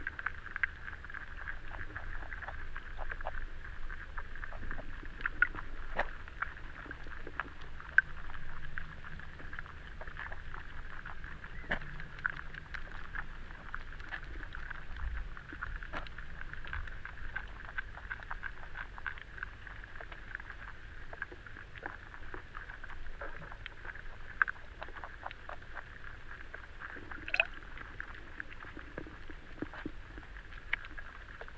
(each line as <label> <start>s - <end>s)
river Venta underwater 0.0s - 31.5s